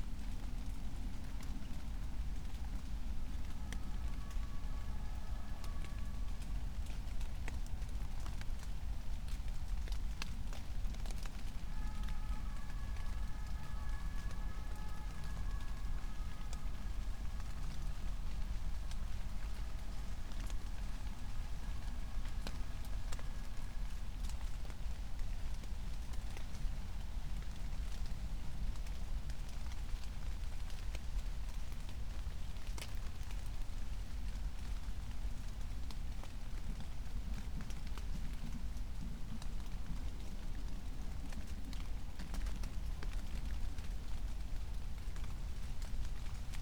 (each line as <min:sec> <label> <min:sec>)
0:00.0 still raining 0:46.6
0:03.3 siren in the distance 0:07.6
0:11.0 siren in the distance 0:25.0